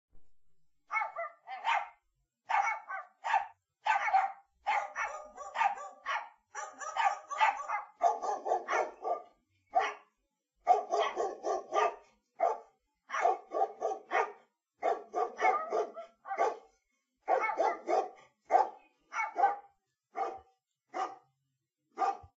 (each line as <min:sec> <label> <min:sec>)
0:00.9 Multiple dogs barking 0:21.3
0:22.0 Multiple dogs barking 0:22.3